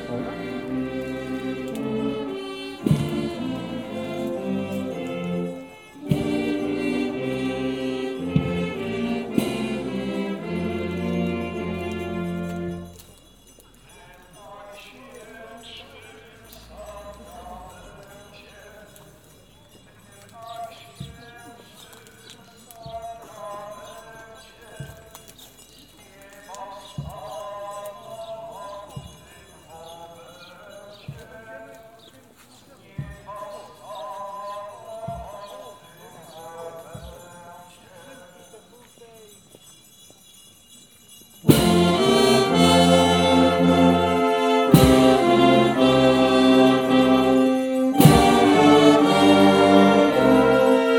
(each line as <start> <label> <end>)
0.0 procession 13.0
0.0 title song 13.0
41.5 procession 50.9
41.5 title song 50.9